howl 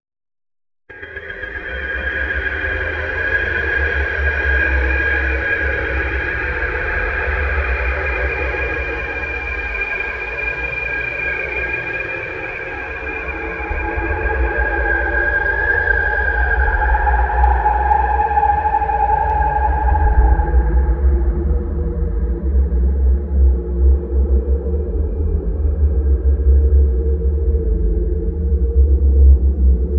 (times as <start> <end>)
13.2 22.6